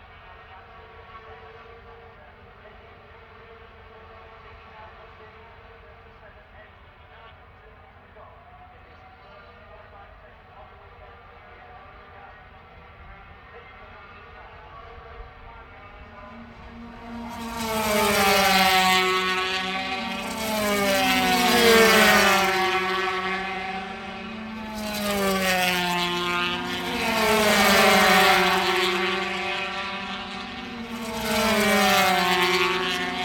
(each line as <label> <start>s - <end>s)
motorcycle grand prix 0.0s - 33.2s